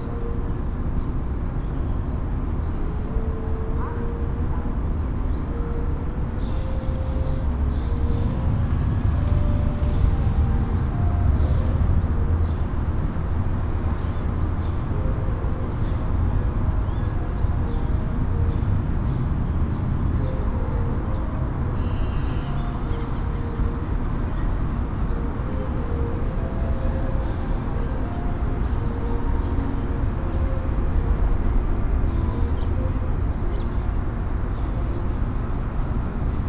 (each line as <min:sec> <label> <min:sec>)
0:00.0 vehicles on the street 0:36.4